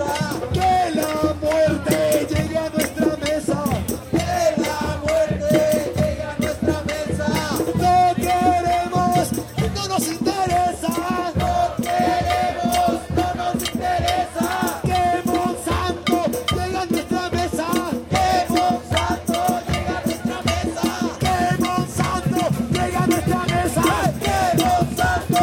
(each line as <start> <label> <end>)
0.0 Conversaciones 25.4
0.0 crowd 25.4